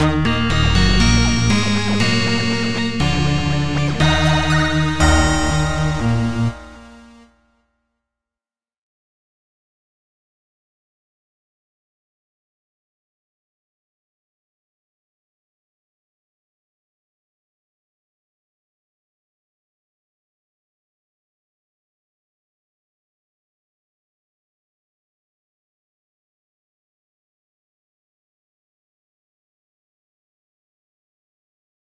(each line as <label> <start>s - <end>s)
melody 0.0s - 7.2s